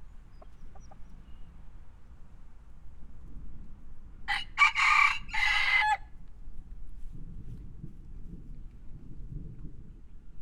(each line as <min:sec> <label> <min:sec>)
0:00.0 free range chickens 0:02.7